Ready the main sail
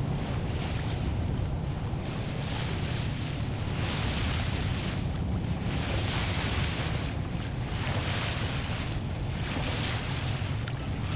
7.9s 11.1s

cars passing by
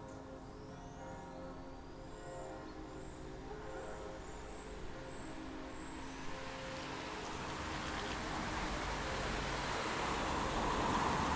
6.8s 11.3s

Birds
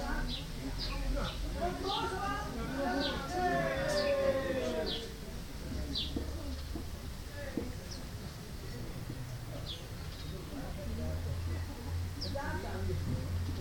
0.2s 2.2s, 2.8s 5.2s, 5.8s 6.8s, 7.8s 10.6s

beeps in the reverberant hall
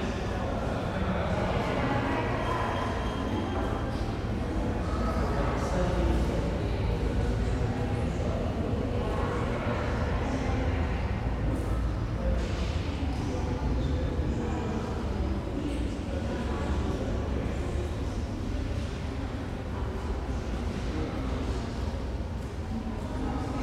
2.0s 4.4s

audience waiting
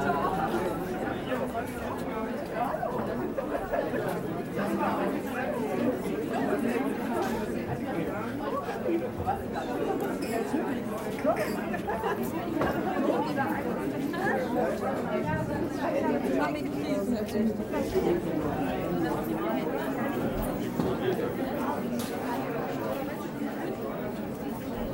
0.0s 5.1s

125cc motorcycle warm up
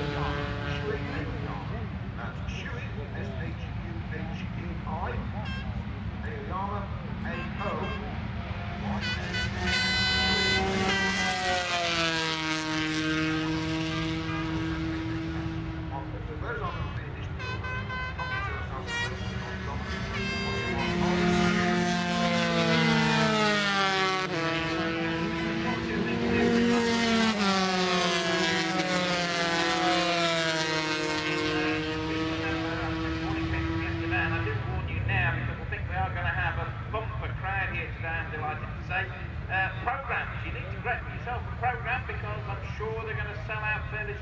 8.6s 18.1s

